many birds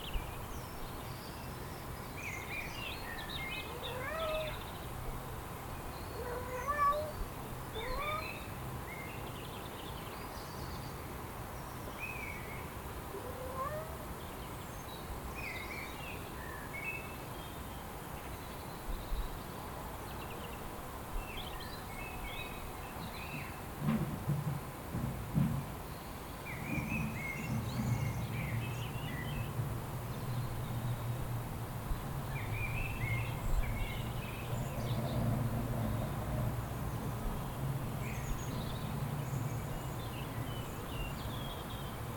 26.0 31.1

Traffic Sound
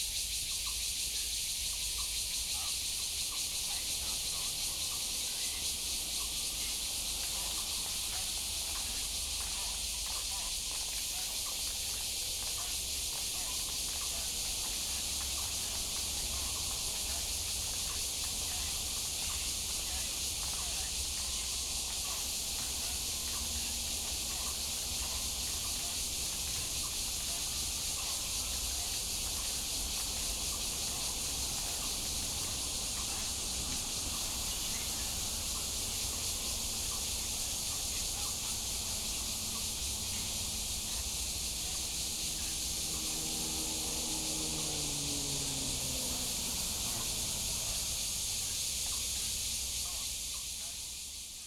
11.2 50.2

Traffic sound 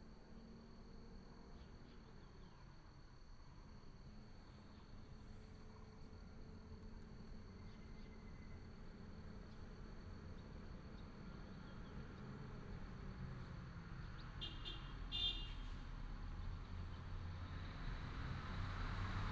12.1 19.3

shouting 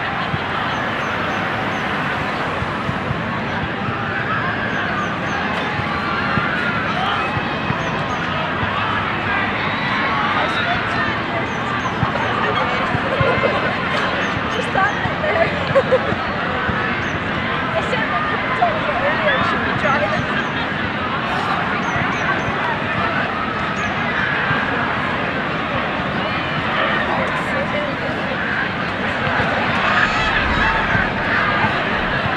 29.2 32.3

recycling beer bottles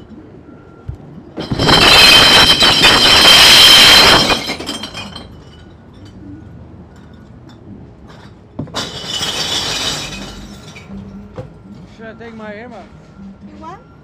0.8 11.9

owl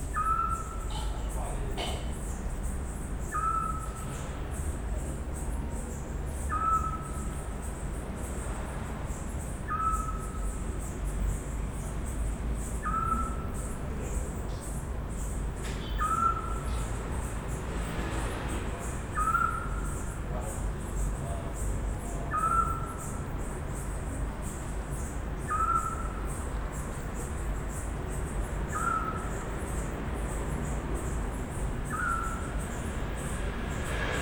0.1 2.1, 3.3 4.1, 6.5 7.3, 9.7 10.4, 12.8 13.5, 15.8 16.9, 19.1 20.0, 22.0 23.2, 25.5 26.3, 28.7 29.4, 31.9 32.5

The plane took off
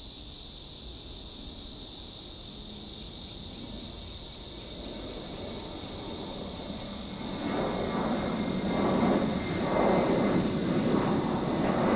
3.6 11.9

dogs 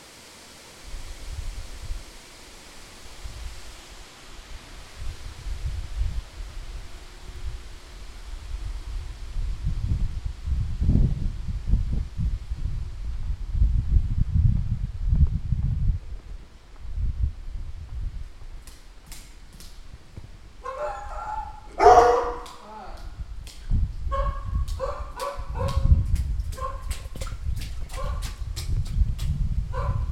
20.6 22.6, 24.1 25.9, 26.6 27.0, 27.9 28.4, 29.7 30.1

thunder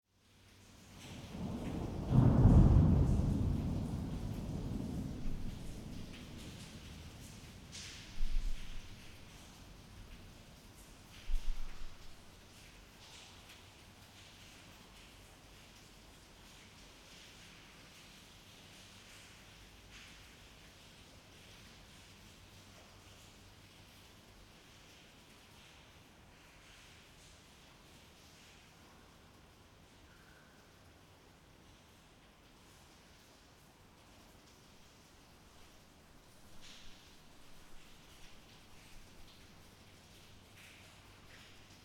1.0 9.5

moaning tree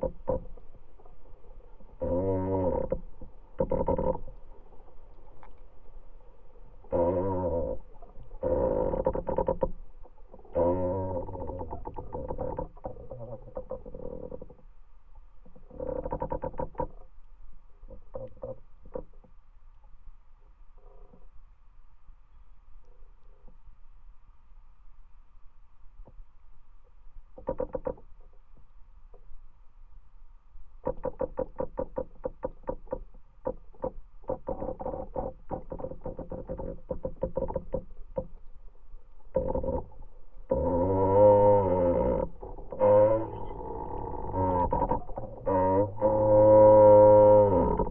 0.0 14.7, 15.4 17.1, 17.7 19.3, 20.8 21.3, 30.8 47.9

